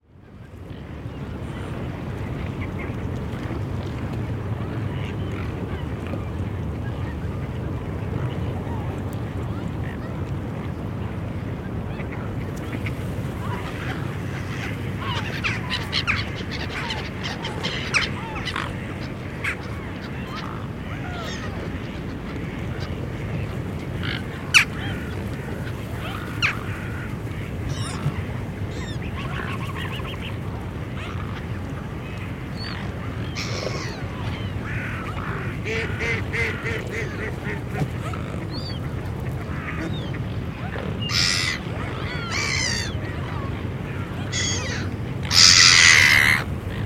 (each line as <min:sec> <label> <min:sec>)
0:00.0 birds on the frozen sea 0:46.8